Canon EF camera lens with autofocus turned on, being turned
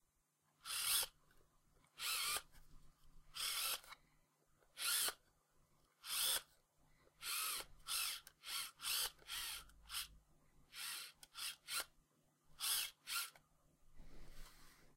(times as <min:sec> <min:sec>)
0:03.4 0:04.0, 0:06.0 0:06.5